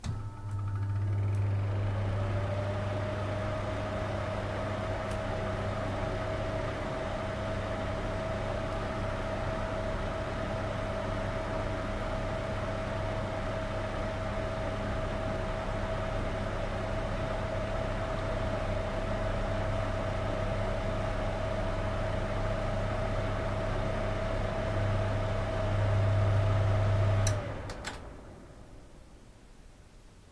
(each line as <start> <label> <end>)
27.2 click 28.1